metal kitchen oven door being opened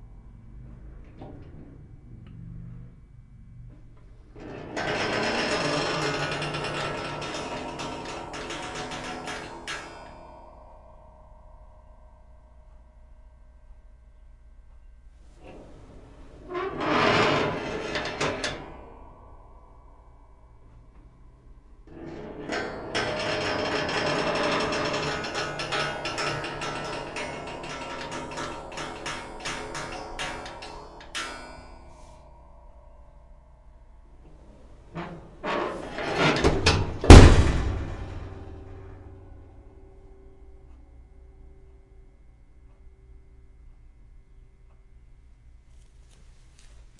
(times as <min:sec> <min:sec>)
0:35.0 0:38.8